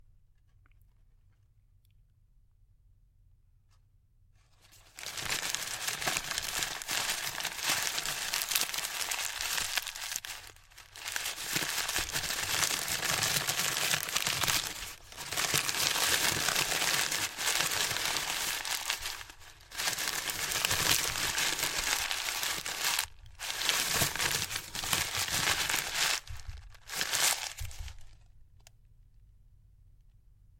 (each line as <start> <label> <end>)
4.5 Crumpling of an empty pharmacy paper bag 28.3